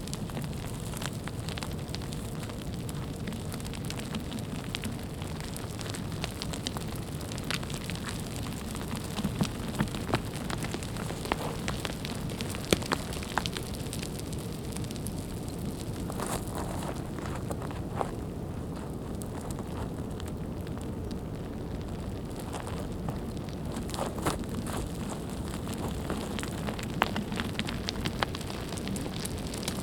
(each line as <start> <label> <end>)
0.0 avalanche 29.8